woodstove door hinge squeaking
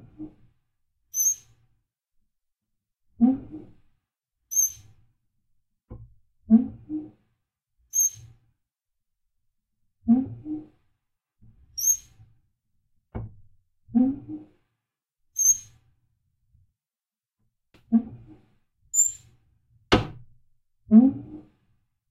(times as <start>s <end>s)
19.0s 19.2s